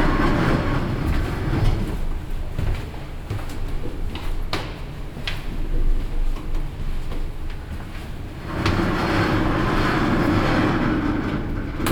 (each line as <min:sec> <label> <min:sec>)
0:00.0 Elevator ride 0:11.9